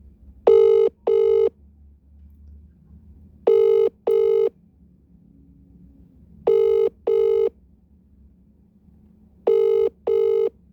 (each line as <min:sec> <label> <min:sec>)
0:00.5 Phone Outgoing Call Ringtone 0:01.5
0:03.5 Phone Outgoing Call Ringtone 0:04.5
0:06.5 Phone Outgoing Call Ringtone 0:07.5
0:09.5 Phone Outgoing Call Ringtone 0:10.5